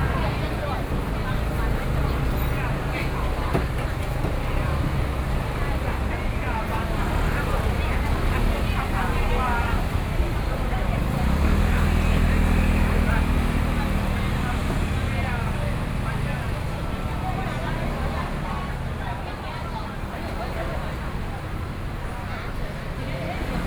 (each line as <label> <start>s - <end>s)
Traffic Sound 0.0s - 23.6s
Walking in traditional markets 0.0s - 23.6s